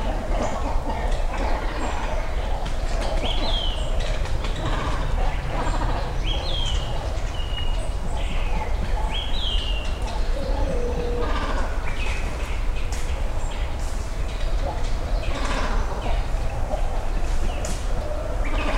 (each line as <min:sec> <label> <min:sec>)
0:00.0 Great Cormorants Nesting 0:18.7
0:00.0 great egrets nesting nearby 0:18.7
0:00.0 other birds 0:18.7